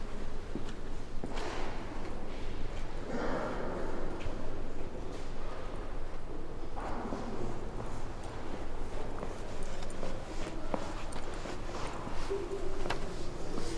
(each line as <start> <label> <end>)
7.1 people talking 13.7
7.8 footsteps 13.7